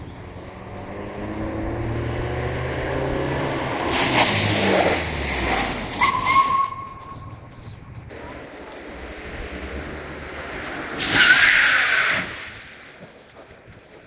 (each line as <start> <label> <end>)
5.4 abrupt stopping car with squealing tyres 7.5
8.2 abrupt stopping car with squealing tyres 13.0